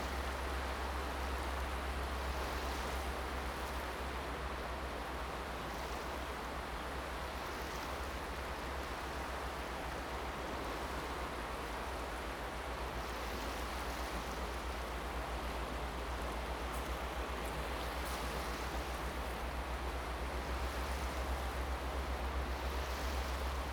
waves 0.0 - 23.7

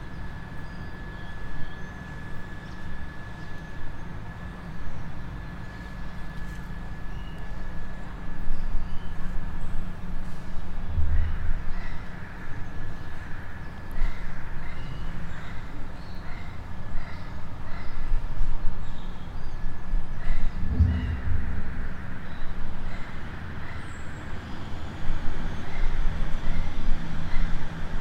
vehículos transitando 19.8 - 28.0

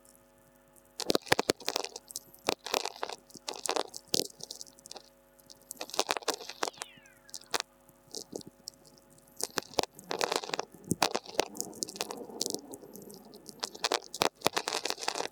tweakers 5.8 - 15.3
whistlers 6.6 - 7.6

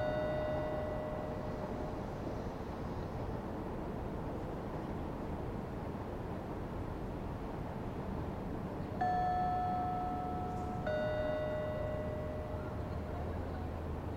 ebb and flow of traffic on the road 0.0 - 14.1
chiming speaker 9.0 - 13.4

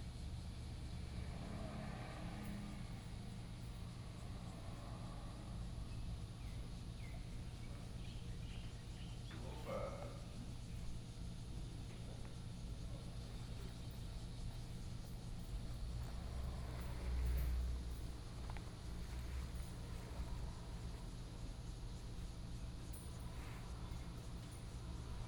Traffic Sound 0.6 - 8.1
Traffic Sound 12.8 - 25.2

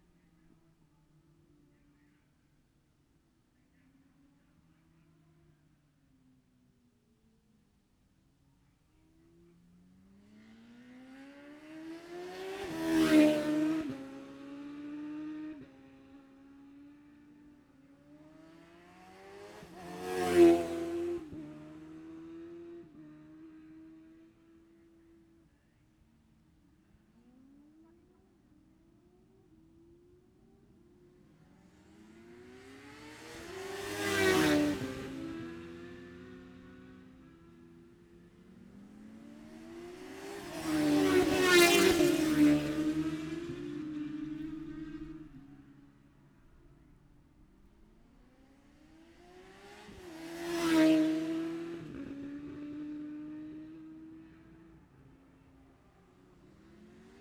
Classic Superbike 0.0 - 57.2

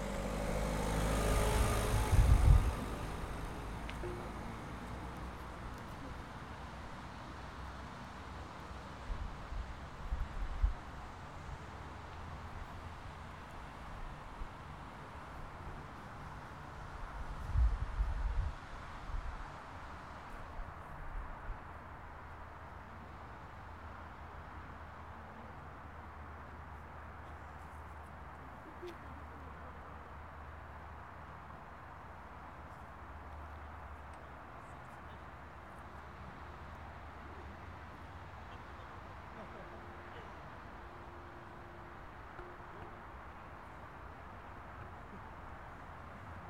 Cars going in and out 0.0 - 20.8
Traffic noise far away 0.0 - 46.4
People talking far away 36.3 - 43.0

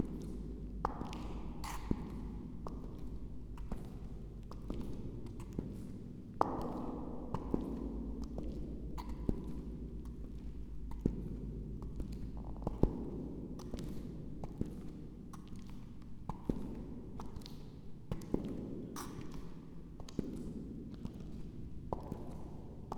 walking echo, louder and later quieter 0.0 - 22.9

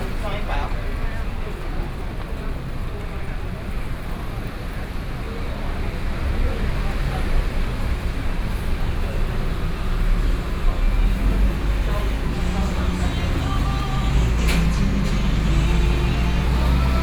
walking in the street 0.0 - 17.0

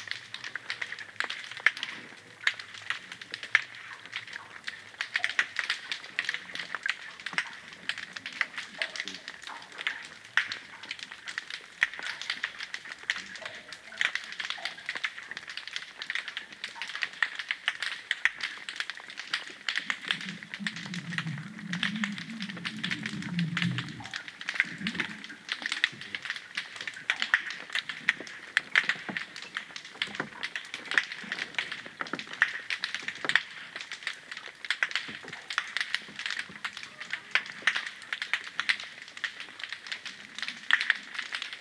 Alpheidae (pistol shrimp) 0.0 - 41.6

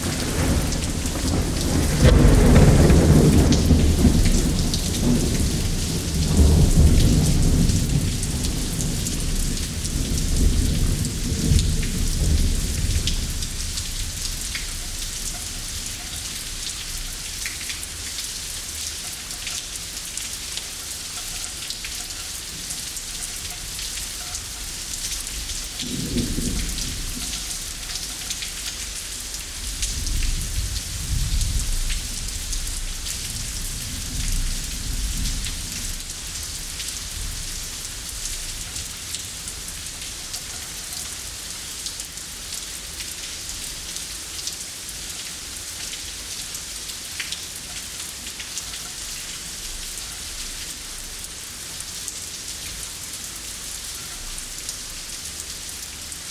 Thunderstorm 0.0 - 15.9
Thunderstorm 25.4 - 28.1
Thunderstorm 29.5 - 37.6

